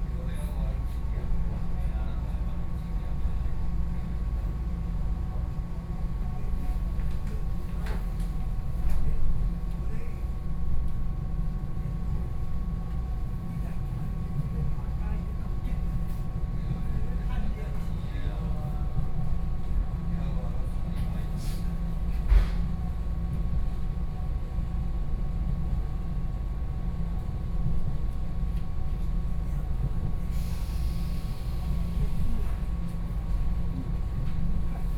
0.0s On the train 34.9s

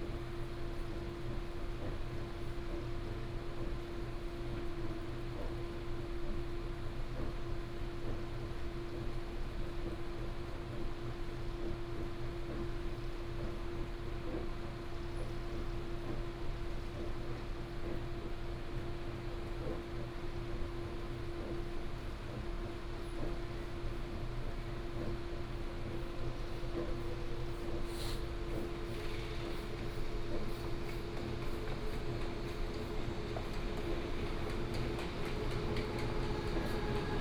27.7s The train travels 37.2s

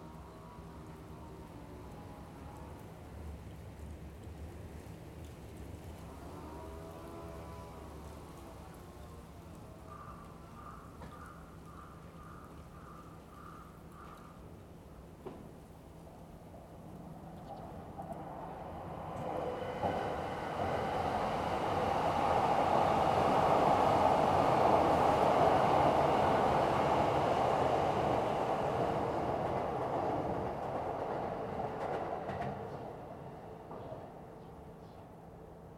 0.0s subway trains 35.7s

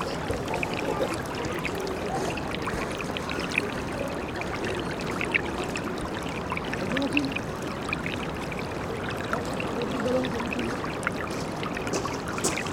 0.0s People 7.4s
0.0s little water streaming 12.7s
9.2s People 10.8s

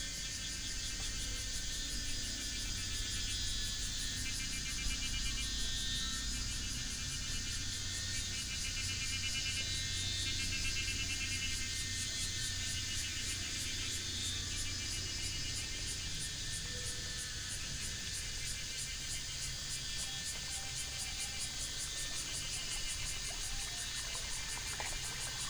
0.0s Cicada sounds 25.4s
19.7s Brook 25.4s

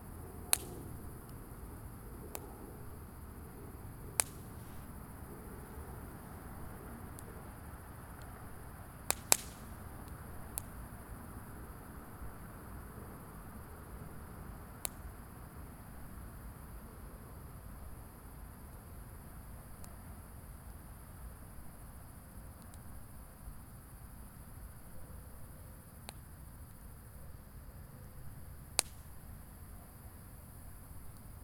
0.0s Crackles from a very small fire 31.4s

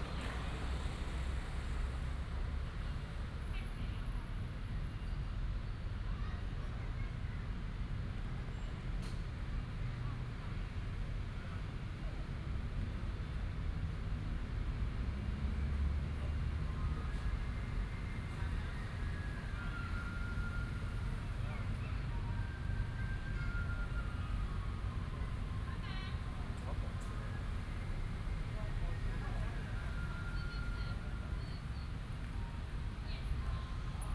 0.0s Traffic sound 34.1s

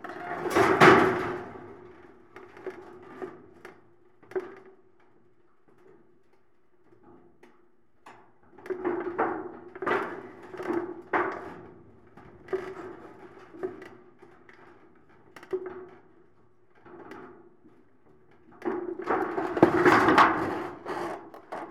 19.1s metal palisade moving by the action of the wind 21.7s

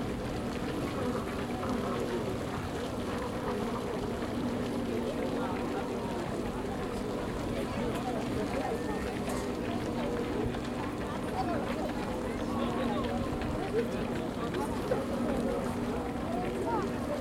0.0s fountain 17.2s
0.1s joggers on the gravel 17.2s

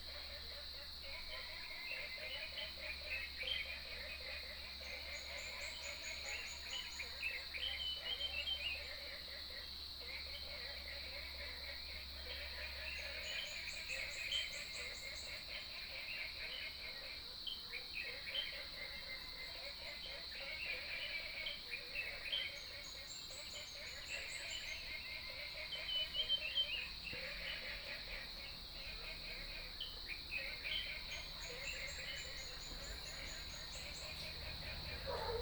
0.0s Frogs sound 35.4s
25.9s Bird calls 35.4s
32.6s Dogs barking 35.4s

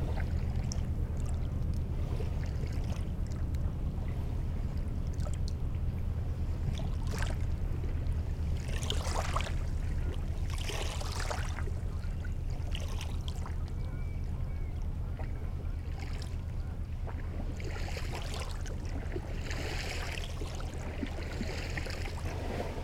0.0s big industrial boat is passing by 22.8s

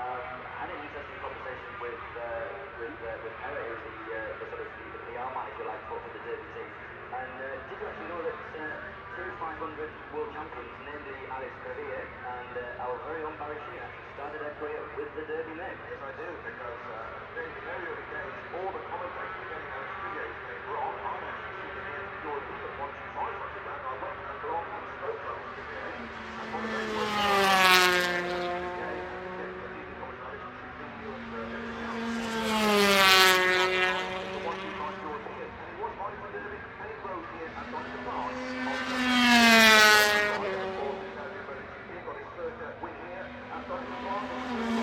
0.0s Motorcycle Grand Prix 44.8s

